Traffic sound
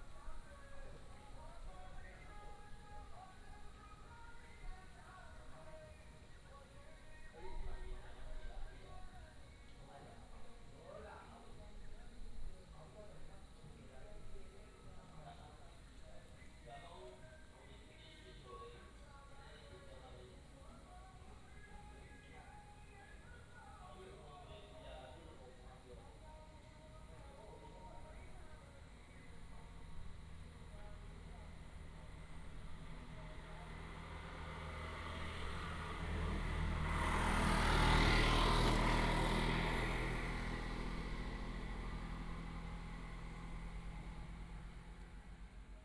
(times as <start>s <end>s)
29.5s 45.8s